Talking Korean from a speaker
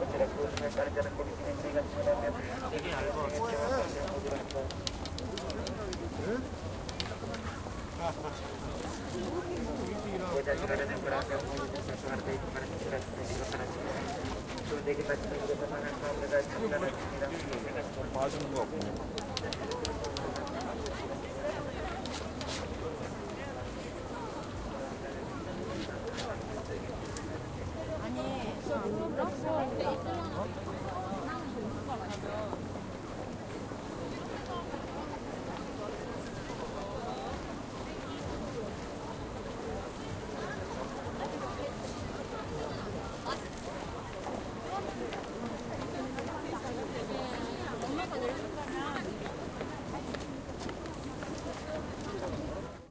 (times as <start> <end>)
0.0 22.2, 23.0 32.7